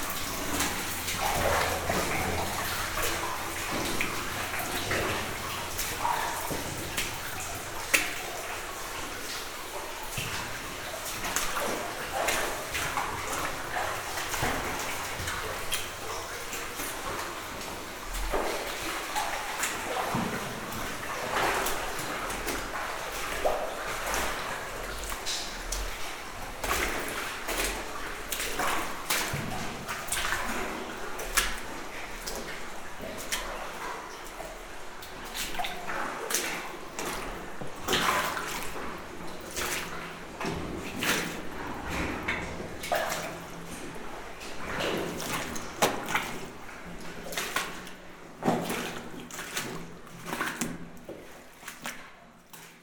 Walking in the mine 0.0 - 52.8

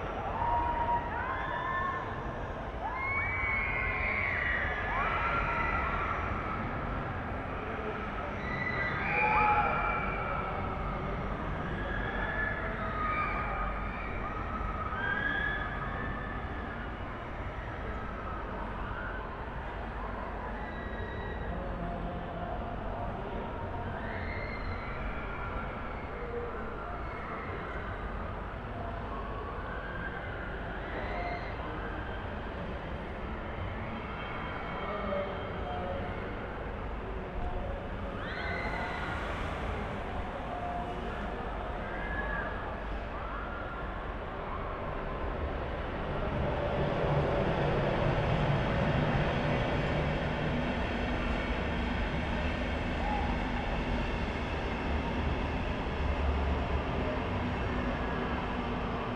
christmas market fun fair 0.0 - 59.1

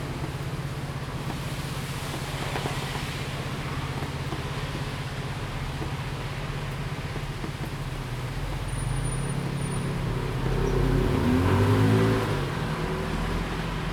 Rainy Day 0.0 - 13.9
Traffic Sound 0.0 - 13.9

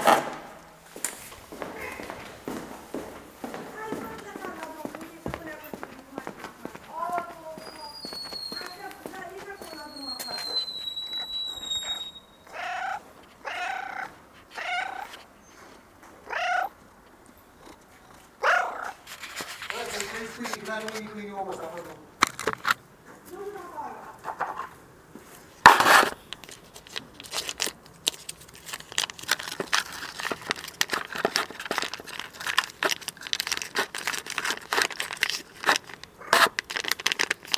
Neigbors talk 3.6 - 10.6
Cat screams for food 7.6 - 15.2
Cat screams for food 16.2 - 16.8
Cat screams for food 18.4 - 19.0
Neigbors talk 19.7 - 22.2

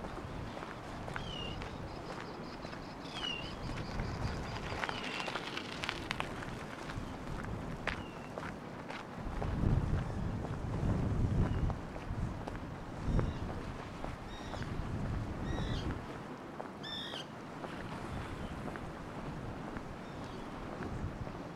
walking on pier 0.0 - 21.5

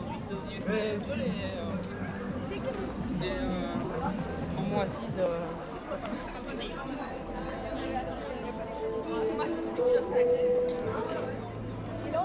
students 2.8 - 12.2

